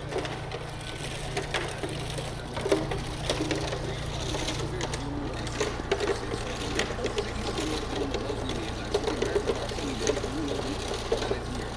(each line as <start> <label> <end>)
0.0 Concrete mixer 11.7
0.0 pedestrians 11.7
0.0 radio 11.7
0.0 traffic 11.7